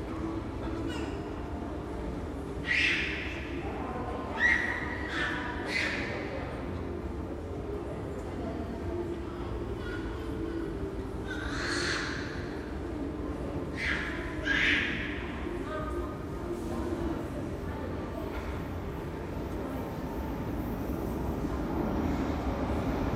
People 0.0 - 23.1
trains passing by above 0.0 - 23.1

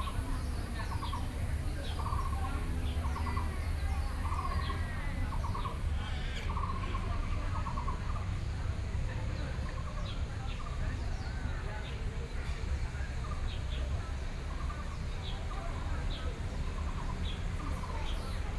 Birdsong 0.0 - 5.9

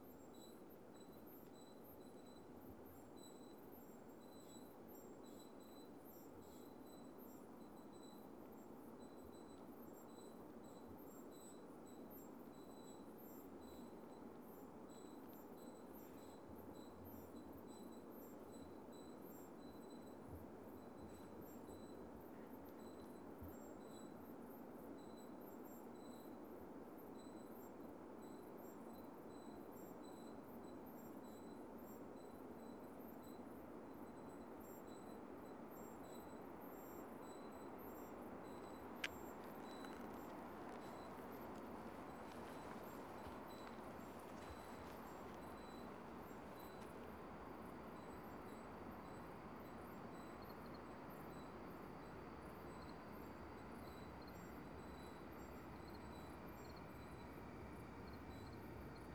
cricket tunes in 32.6 - 59.1
very long freight train is passing by at low speed 37.6 - 59.1

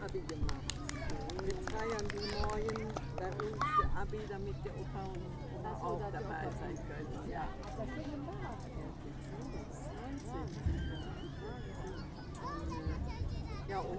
conversation of people 0.0 - 13.9

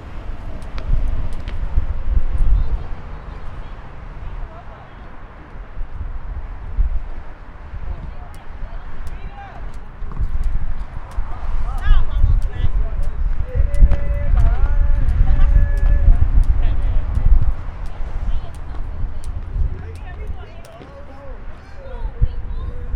Hopscotch 0.0 - 3.8
Hopscotch 7.9 - 22.1

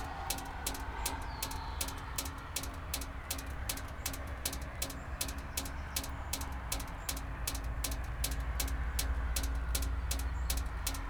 distant cars 0.0 - 11.0
drops in a drain 0.0 - 11.0

